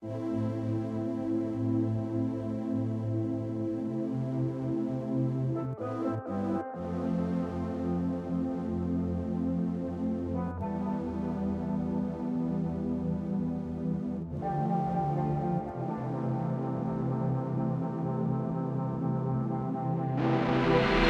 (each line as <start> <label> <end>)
5.5 synth 21.0